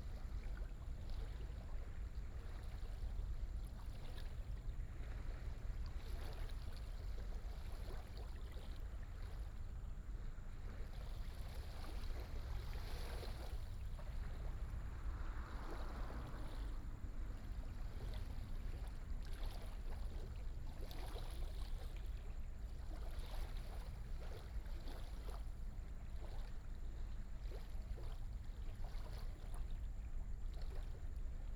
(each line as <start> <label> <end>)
0.0 tide 31.5